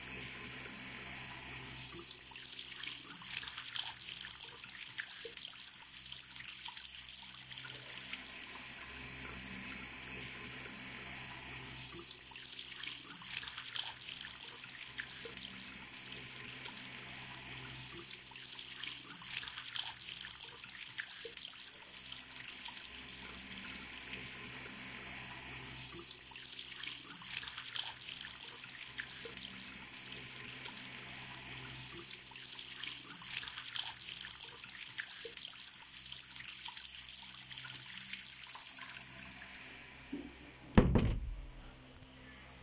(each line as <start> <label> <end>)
0.0 Flushing 40.6
0.1 water tap sounds 41.5
40.2 closing a door 41.6